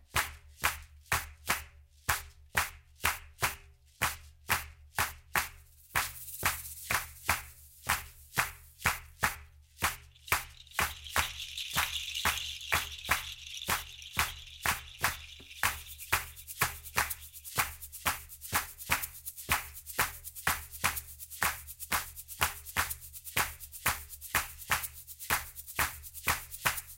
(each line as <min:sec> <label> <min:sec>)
0:00.0 shaker 0:26.9
0:05.7 shekere 0:26.9
0:10.2 Birds 0:17.6
0:10.2 cowbell 0:18.0